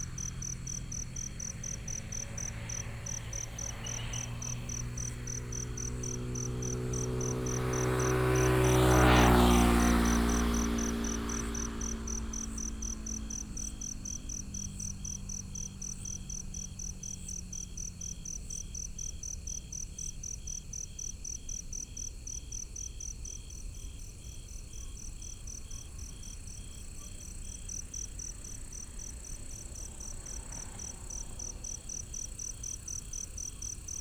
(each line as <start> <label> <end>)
0.0 Traffic sound 19.0
0.0 Insects sound 34.0
24.9 Traffic sound 34.0